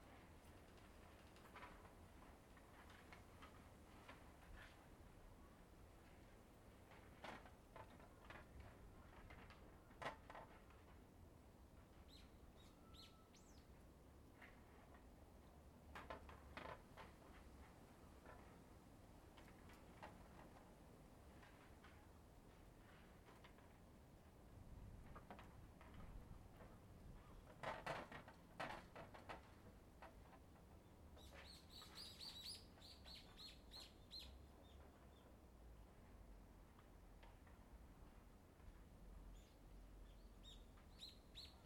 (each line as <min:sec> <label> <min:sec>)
0:00.1 Rattling of wooden prayer boards against the wind 0:05.3
0:06.0 Rattling of wooden prayer boards against the wind 0:12.0
0:14.3 Rattling of wooden prayer boards against the wind 0:32.0